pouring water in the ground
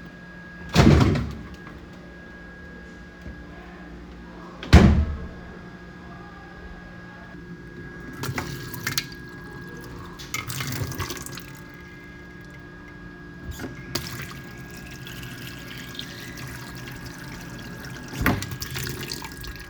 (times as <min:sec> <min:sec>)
0:08.0 0:12.6, 0:13.5 0:19.6